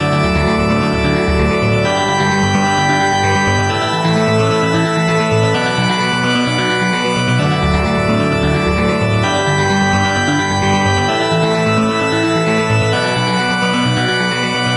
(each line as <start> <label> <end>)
0.0 arpeggio 14.7
0.0 bass 14.7
0.0 organ 14.7
0.0 synthesizer 14.7